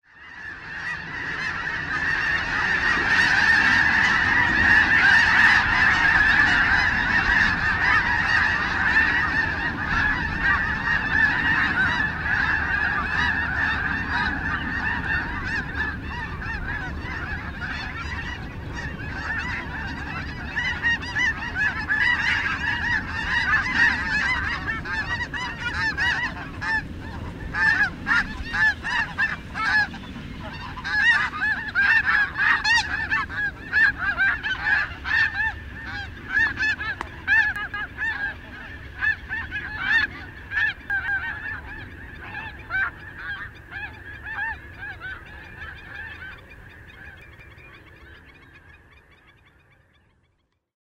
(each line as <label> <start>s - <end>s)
snow geese 0.0s - 50.6s